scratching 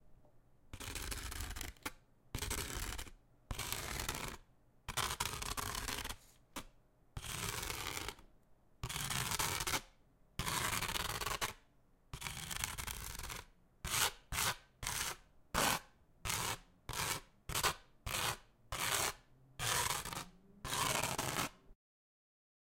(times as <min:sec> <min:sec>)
0:12.2 0:21.6